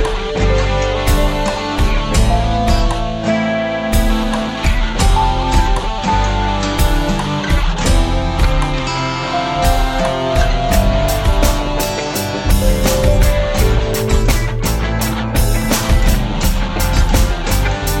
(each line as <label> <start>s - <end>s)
Beats 0.0s - 18.0s
Guitar 0.0s - 18.0s
Synth 0.0s - 18.0s